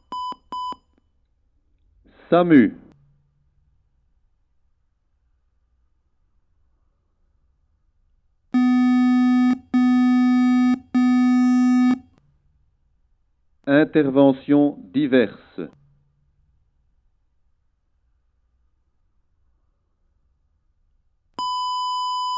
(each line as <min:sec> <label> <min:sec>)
0:02.1 a voice says in french 0:03.0
0:08.6 Fire brigade alarm 0:12.1
0:08.6 code (like a small song) 0:12.1
0:13.7 a voice says in french 0:15.8